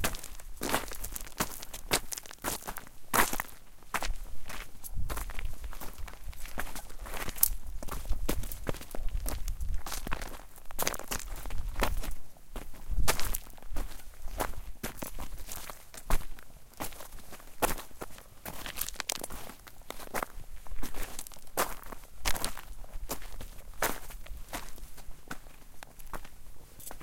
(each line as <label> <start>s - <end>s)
hiking boots on small to medium loose rocks 0.0s - 27.0s